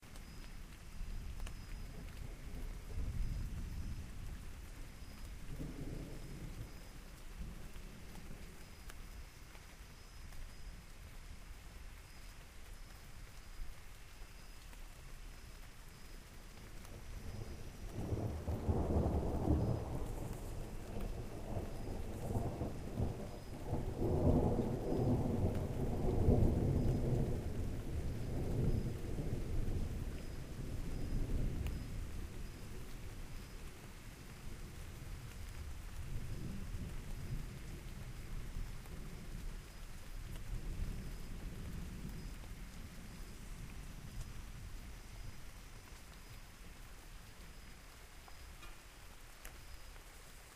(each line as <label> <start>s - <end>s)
rain 0.0s - 50.5s
thunder 1.6s - 8.8s
thunder 16.9s - 33.7s